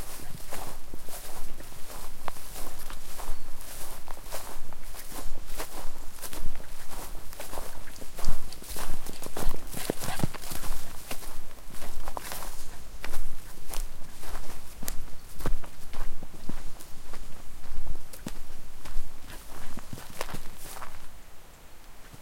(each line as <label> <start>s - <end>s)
footstep sounds on different ground 0.0s - 21.2s
dog 9.8s - 10.4s